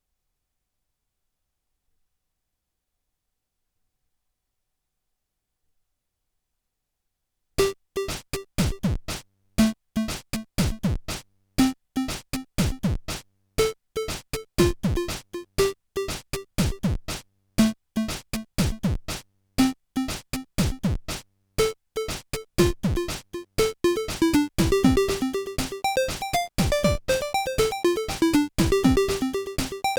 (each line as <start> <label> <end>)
21.6 chiptune 29.9